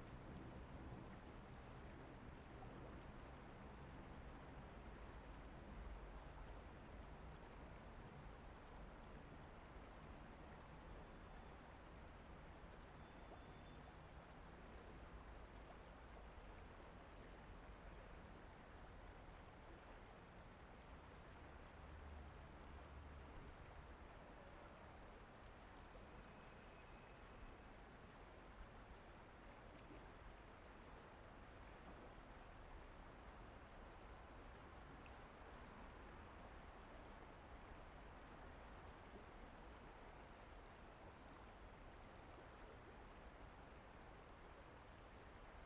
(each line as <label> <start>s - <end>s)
Olona river 0.0s - 45.6s